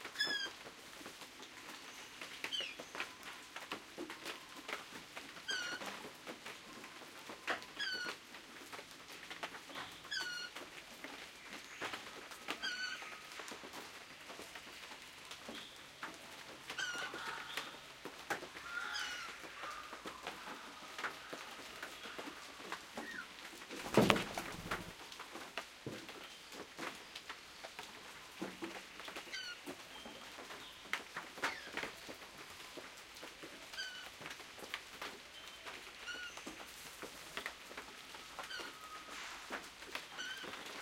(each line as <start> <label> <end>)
0.0 Rain 40.8
9.7 birdsong 13.4
15.4 birdsong 24.9
29.0 birdsong 32.1
35.3 birdsong 36.6
38.2 birdsong 39.1